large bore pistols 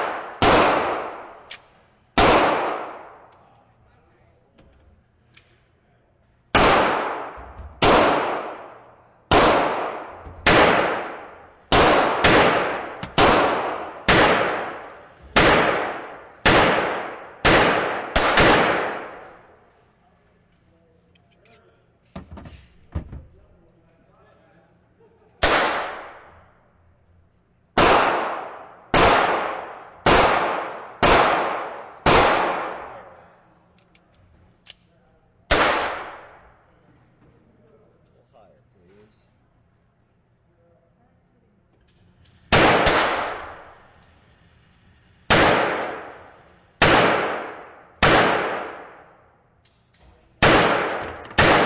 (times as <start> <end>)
0.0 3.6, 6.5 19.8, 25.4 26.6, 27.7 34.9, 35.5 36.7, 41.8 51.6